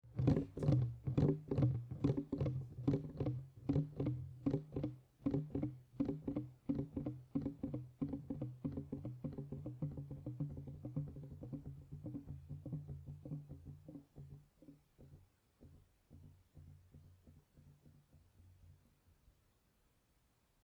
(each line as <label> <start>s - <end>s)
plastic bottle rolling back and forth naturally 0.0s - 7.0s